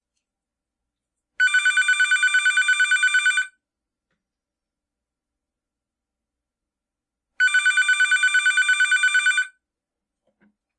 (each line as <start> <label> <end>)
1.4 Electronic Phone Ringer 3.5
7.4 Electronic Phone Ringer 9.5